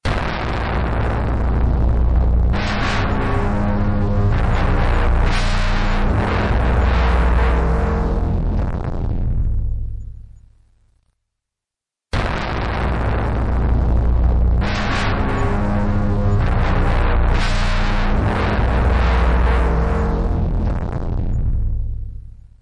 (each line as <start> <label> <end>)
0.1 Syth wave of a flute with effects and heavy distortion 9.7
12.2 Syth wave of a flute with effects and heavy distortion 22.2